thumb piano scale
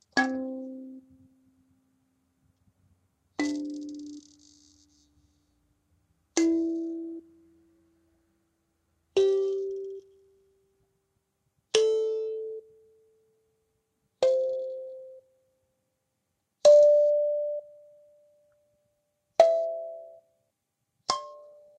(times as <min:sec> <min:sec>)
0:21.1 0:21.7